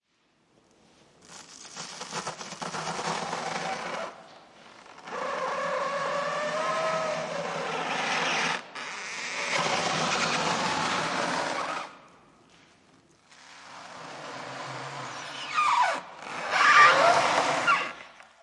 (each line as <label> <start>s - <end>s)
saw some PUR foam into pieces 1.2s - 4.2s
squeak 1.3s - 12.0s
squeak 13.3s - 18.1s